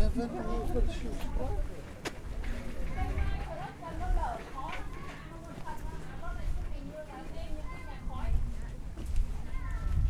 woman is talking to everyone in chinese 0:02.9 - 0:08.9

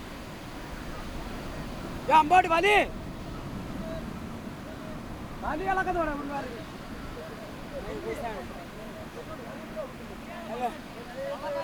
fishermen pulling net ashore 0:00.0 - 0:11.6

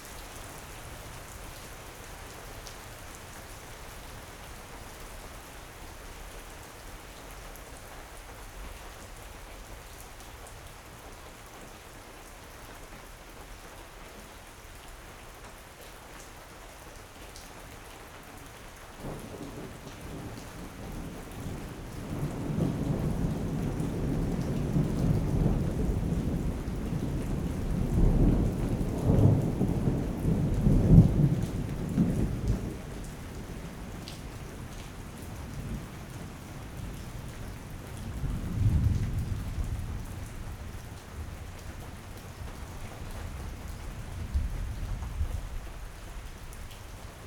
rain 0:00.0 - 0:47.2
Thunder 0:21.4 - 0:32.8
Thunder 0:38.2 - 0:40.3

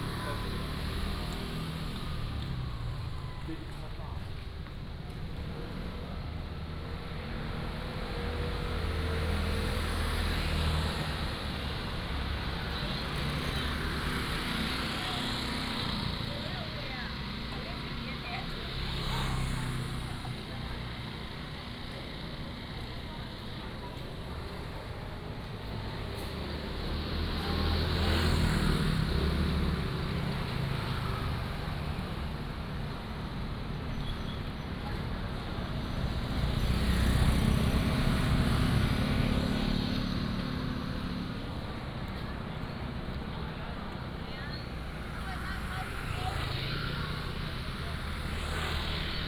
Traffic Sound 0:00.0 - 0:49.2
Walking on the road 0:00.0 - 0:49.2

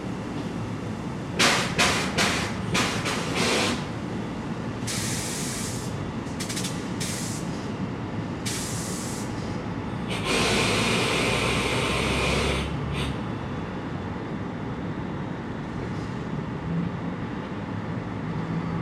Resting Trains 0:00.0 - 0:13.3

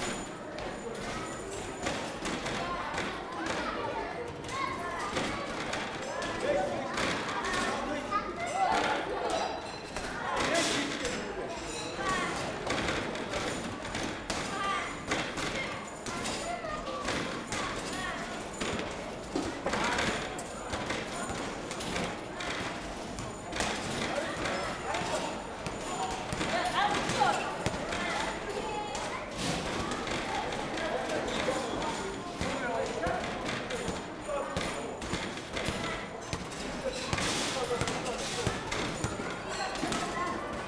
basket ball 0:34.6 - 0:40.1

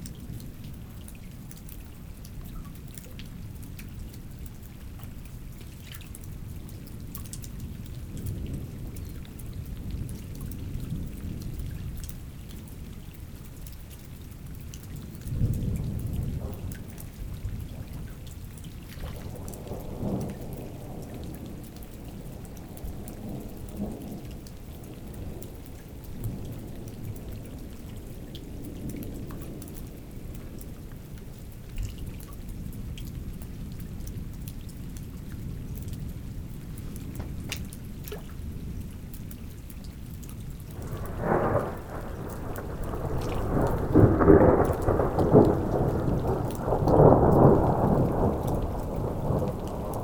small river 0:00.0 - 0:50.0
strong storm 0:40.8 - 0:50.0

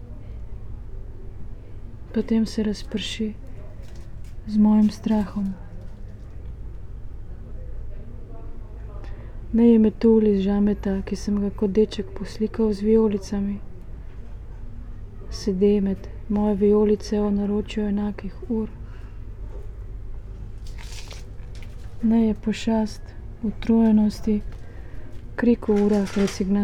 reading poem 0:02.1 - 0:05.9
reading poem 0:20.2 - 0:26.6

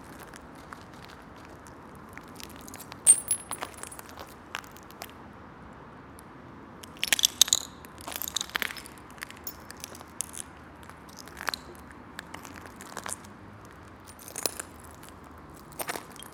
traffic 0:00.0 - 0:16.3
broken pieces of glass that I was walking on 0:02.4 - 0:04.7
broken pieces of glass that I was walking on 0:06.9 - 0:10.5
broken pieces of glass that I was walking on 0:11.1 - 0:16.3

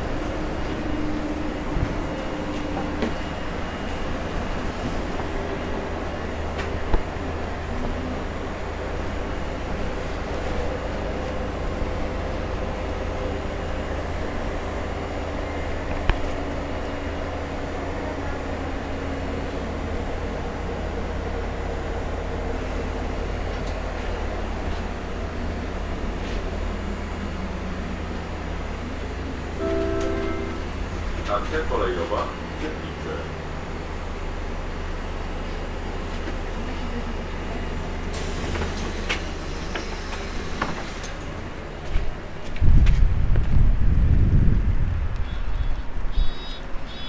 bus ride 0:00.0 - 0:47.0

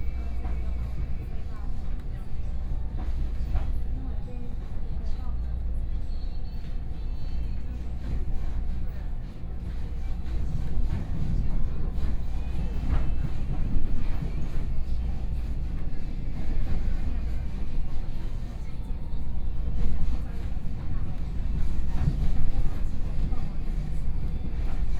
Local Train 0:00.0 - 0:24.9

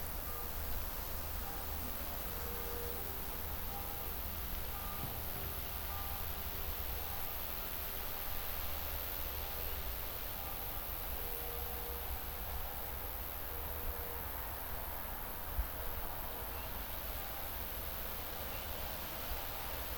crickets 0:00.0 - 0:19.9
gentle wind 0:00.0 - 0:19.9
distant church bells 0:00.0 - 0:19.9

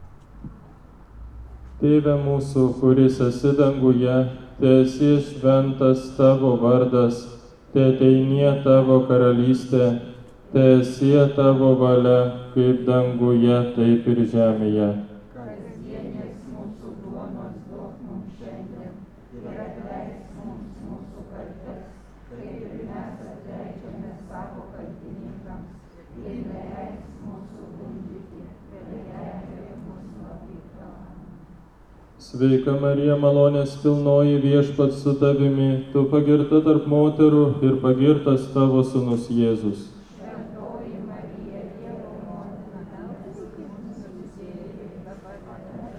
procession 0:01.8 - 0:45.9

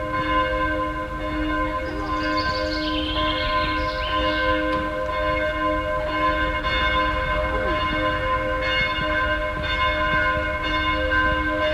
12 o clock bells 0:00.0 - 0:11.7

